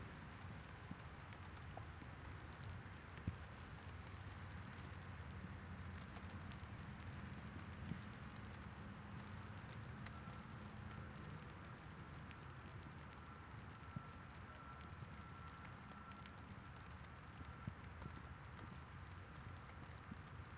rain on the box 0.1 - 20.5

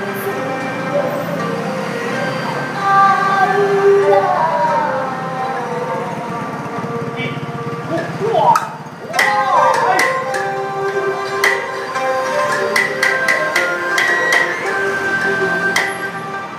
Taiwanese Opera performance 0.0 - 16.5

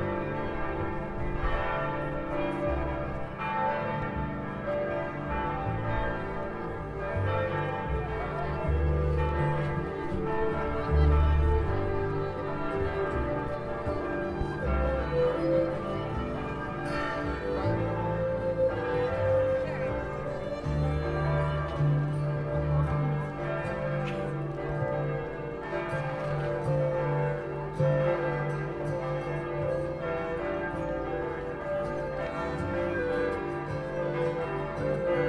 Bell Tower Bells 0.0 - 35.2

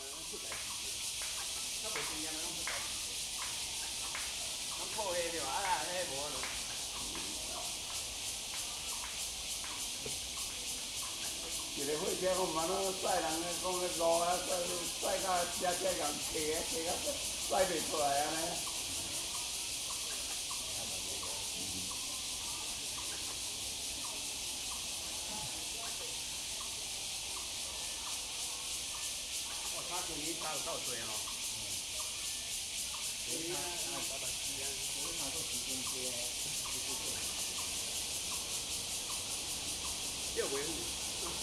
Bird calls 0.0 - 41.4
Cicadas cry 0.0 - 41.4
frog 0.0 - 41.4
group of old people talking 0.0 - 41.4

